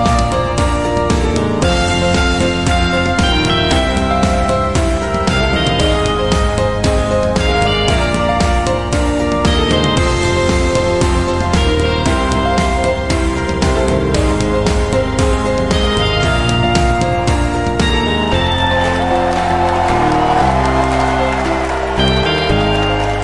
0.0s guitar 23.2s
0.0s piano 23.2s
0.0s strings 23.2s
0.0s clap 23.2s
17.6s crowd 23.2s

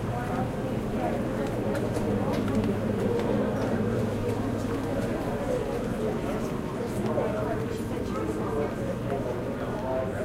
0.0s children passing by and talking 10.2s

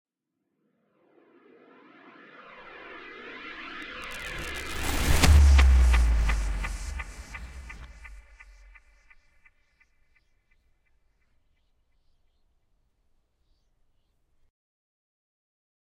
1.4s woosh 9.5s
3.8s Trailer hit 9.0s

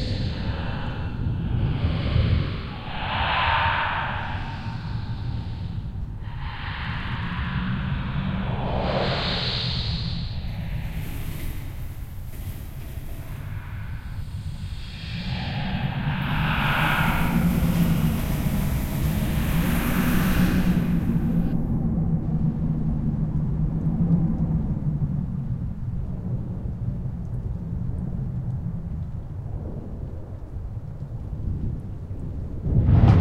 0.0s ghost whisper 21.7s
0.0s wind howling 25.8s
32.5s wind howling 33.2s
32.5s thunder 33.2s

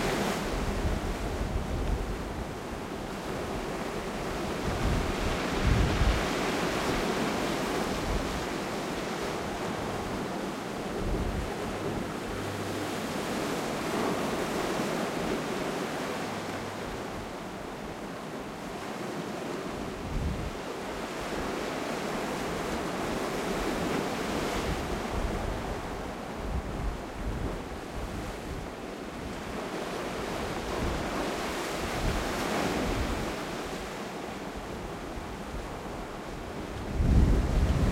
0.0s constant presence of wind 37.9s
0.0s waves of a rough sea 37.9s

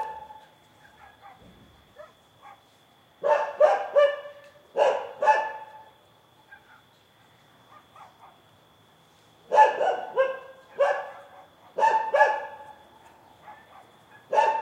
0.0s dog barks 6.9s
7.7s dog barks 8.5s
9.5s dog barks 14.6s

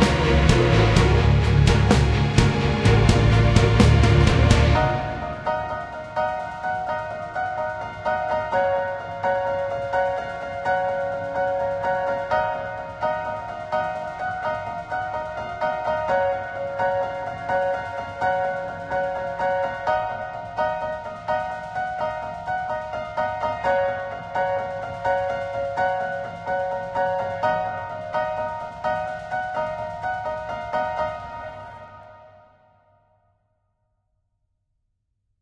0.0s bass 5.4s
0.0s sub bass 5.6s
0.0s string 32.1s
0.0s pads 32.3s
0.0s synth 32.5s
0.0s piano 33.4s

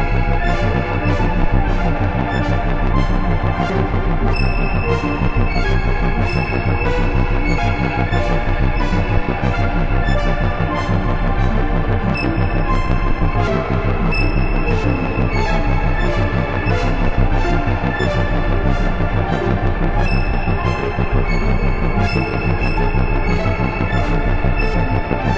0.0s bass 25.3s

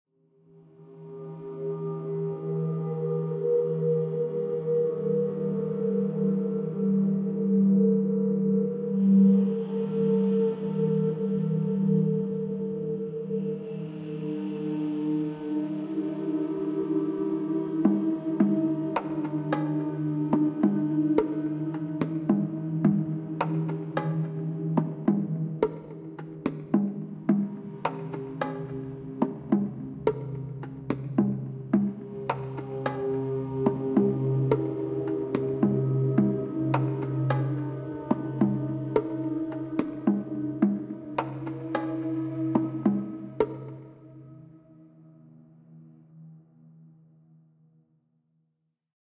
0.5s Heavily processed and slowed down flute 47.4s
17.9s processed bongo samples 43.8s

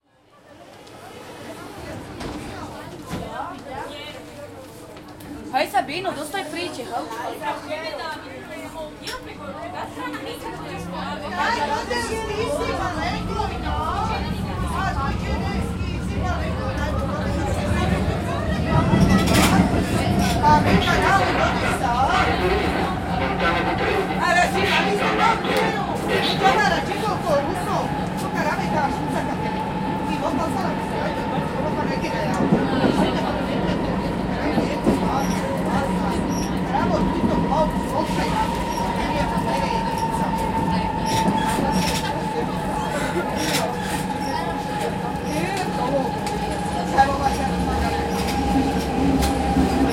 0.0s people talking in italian 49.9s
11.4s Metro 49.9s

